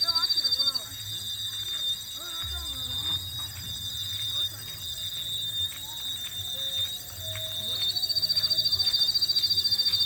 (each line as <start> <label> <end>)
0.0 bioacoustics 10.0